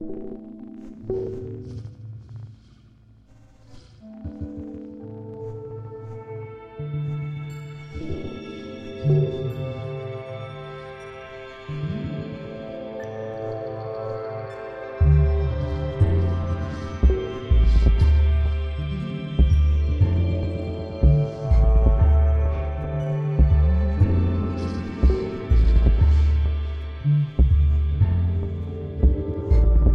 0.0s Music 29.9s

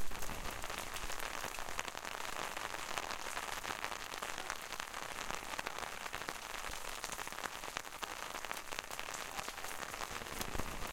0.0s medium rain falling on an umbrella 10.9s

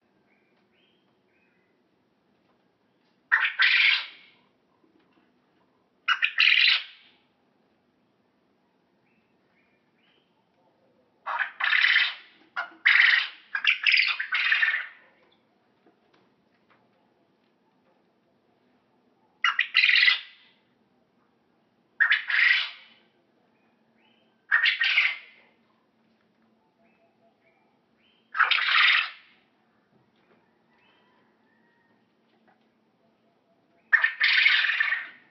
0.0s little birds background 35.3s
3.3s Quail Sound 7.2s
10.6s Quail Sound 15.5s
19.3s Quail Sound 20.6s
22.0s Quail Sound 23.1s
24.2s Quail Sound 25.8s
26.6s Quail Sound 29.4s
33.3s Quail Sound 35.3s

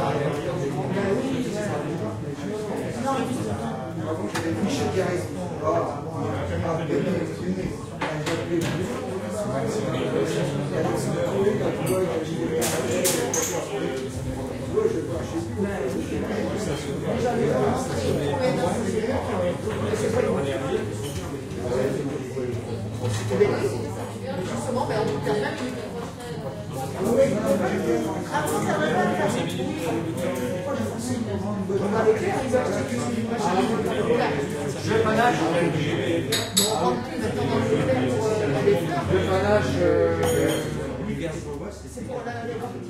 0.0s Many voices 42.8s
36.3s cups and spoons 36.8s
40.2s cups and spoons 40.8s

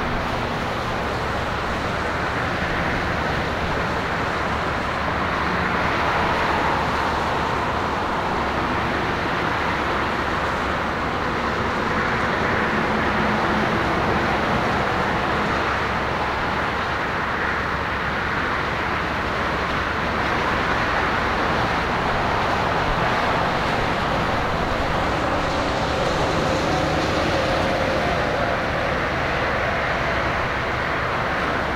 0.0s endless ebb and flow of car traffic 31.7s

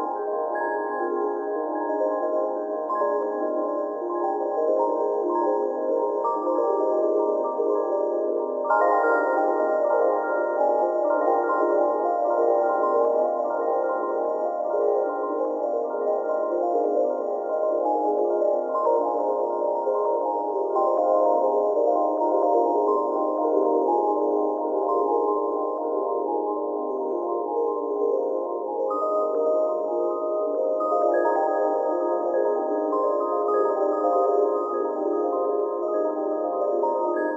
0.0s Sine Bells 37.3s

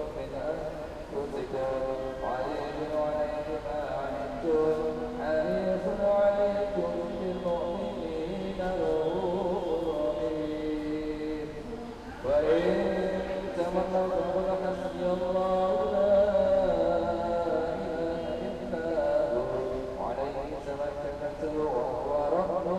0.0s Indonesian domestic helpers chanting and praying 22.7s
0.0s praying with an Imam 22.7s
0.0s singing 22.7s

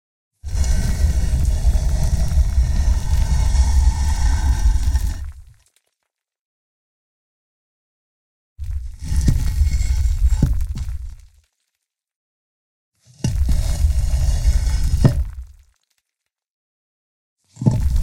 0.4s gravestone slab being dragged 5.6s
0.5s chipped small stones and sand 6.1s
8.6s gravestone slab being dragged 11.4s
8.6s chipped small stones and sand 11.9s
13.0s gravestone slab being dragged 15.8s
13.2s chipped small stones and sand 16.2s
17.6s chipped small stones and sand 18.0s
17.6s gravestone slab being dragged 18.0s

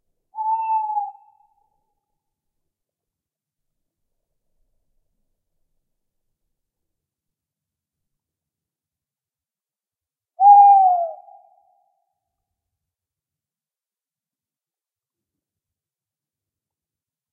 0.4s two male Tawny owls (Strix aluco) hooting 1.6s
10.4s two male Tawny owls (Strix aluco) hooting 12.0s

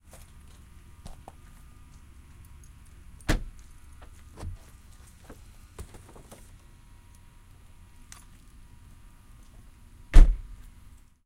3.2s car trunk closing 3.5s
3.2s opening the trunk of a car 6.5s
10.1s car trunk closing 10.5s

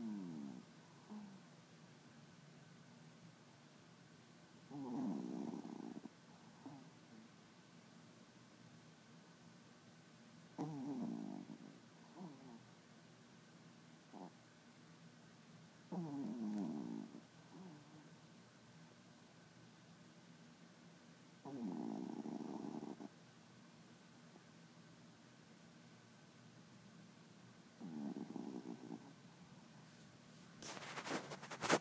0.0s Small Dog Snoring 1.5s
4.7s Small Dog Snoring 7.2s
10.6s Small Dog Snoring 12.7s
14.1s Small Dog Snoring 14.4s
15.9s Small Dog Snoring 18.1s
21.4s Small Dog Snoring 23.2s
27.8s Small Dog Snoring 29.2s

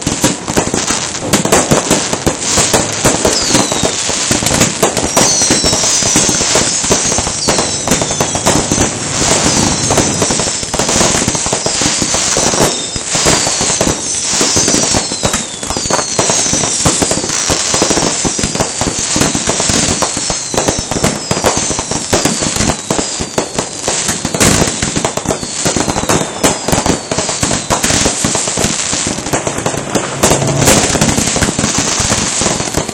1.3s explosions 14.0s
24.2s explosions 32.9s
27.6s rockets being launced 32.9s

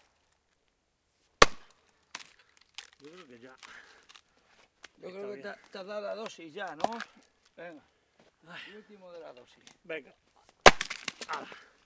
1.4s splitting thick logs of wood 4.3s
6.8s splitting thick logs of wood 7.3s
10.5s splitting thick logs of wood 11.8s

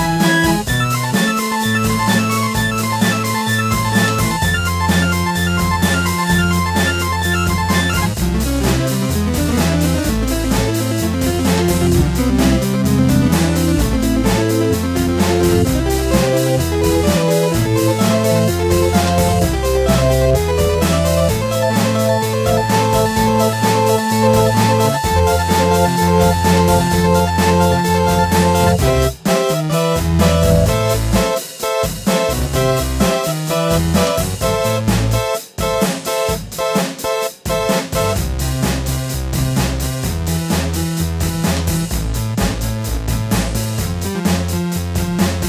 0.0s Synthesizer 38.3s
0.0s drum machine 45.4s
0.0s piano 45.4s

